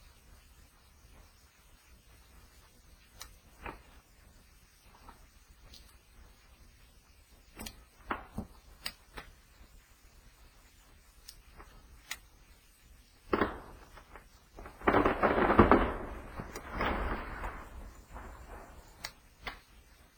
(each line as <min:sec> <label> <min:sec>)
0:13.3 falling trees 0:19.1
0:13.3 mini avalnches of snow falling from the trees 0:19.2
0:13.3 snapping tree limbs 0:19.6